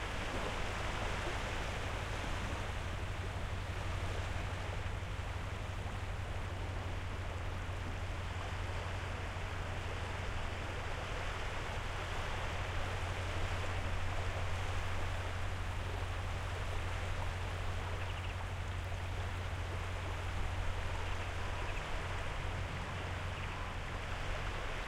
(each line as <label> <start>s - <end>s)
constant hum came from that ship 0.0s - 24.8s
waves 0.0s - 24.8s